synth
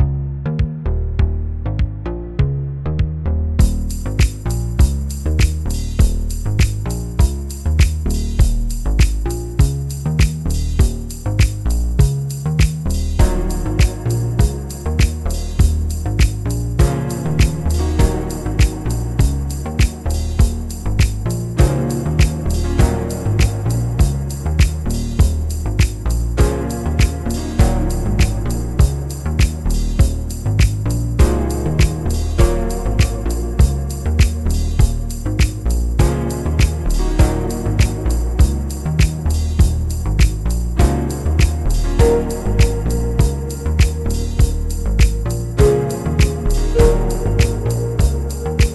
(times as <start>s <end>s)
13.1s 48.7s